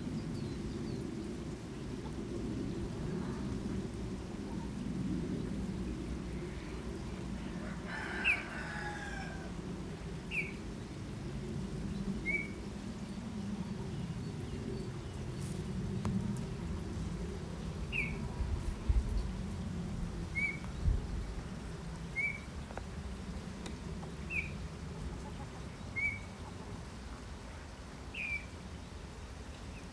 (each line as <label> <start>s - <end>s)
Rooster 7.6s - 9.6s
Chickens 24.9s - 27.2s